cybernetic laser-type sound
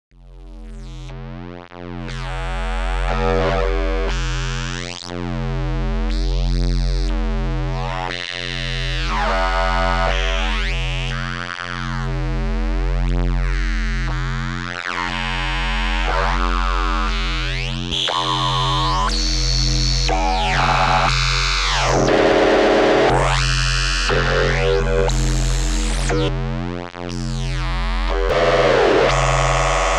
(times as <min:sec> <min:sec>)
0:21.8 0:23.5